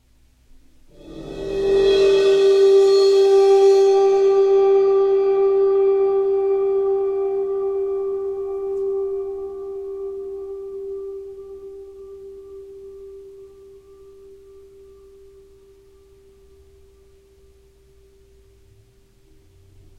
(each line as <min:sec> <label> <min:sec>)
0:00.8 bowed cymbal swells 0:19.9